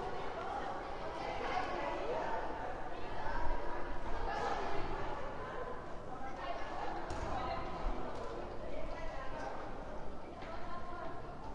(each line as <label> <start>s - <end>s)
young childrens/pupils playing and talking 0.0s - 11.5s